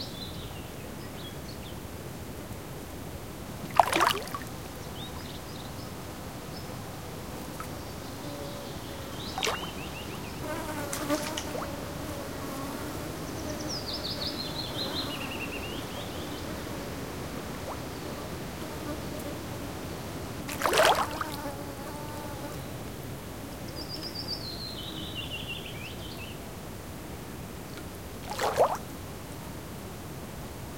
trees humming 3.5 - 26.4
insects 3.6 - 26.5
small fish plopping, jumping on the surface 3.8 - 4.5
birds 7.6 - 11.7
small fish plopping, jumping on the surface 9.4 - 9.8
small fish plopping, jumping on the surface 20.5 - 21.2

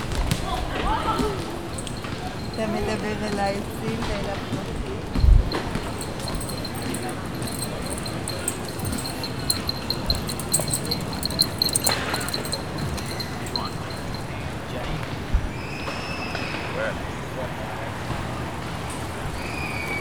Walking in the park 0.0 - 15.1
ball games 0.0 - 14.4
Talking on the phone 0.7 - 14.5

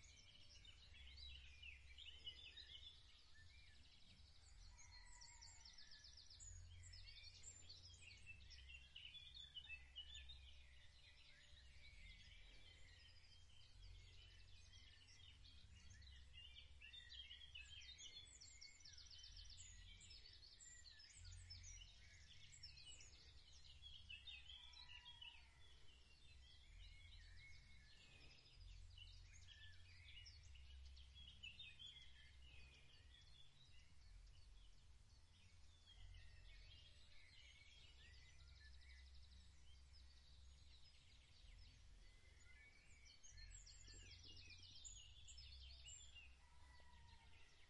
Rooster 46.4 - 47.6

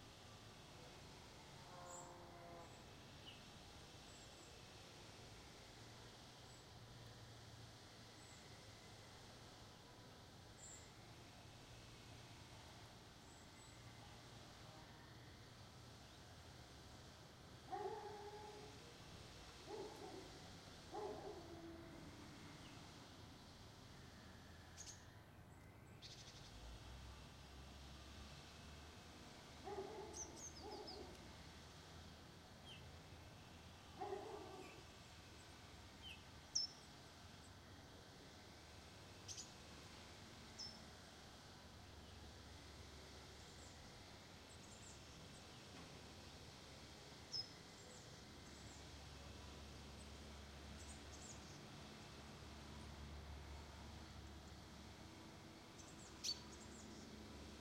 traffic 14.0 - 36.2

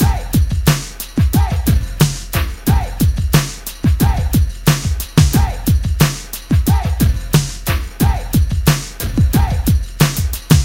drums 0.0 - 10.6

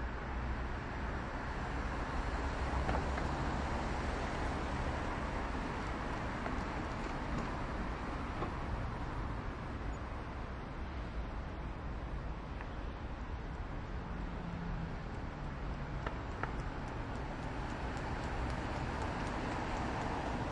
medium speed cars 0.0 - 20.5
brakes 15.1 - 20.5

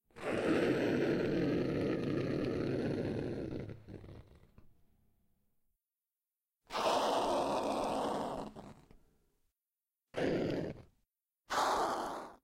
snarl 0.1 - 4.6
snarl 6.7 - 9.0
snarl 10.1 - 10.9
snarl 11.5 - 12.4

